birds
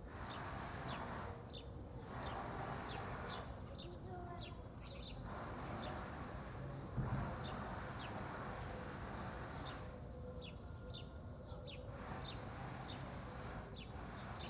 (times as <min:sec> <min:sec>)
0:00.2 0:06.0, 0:09.2 0:14.4